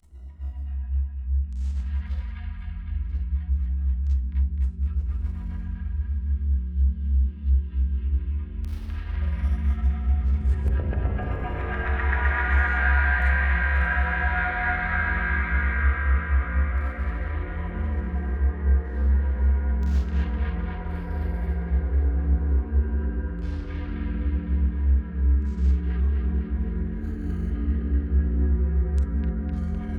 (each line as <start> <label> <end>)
8.8 drone 29.9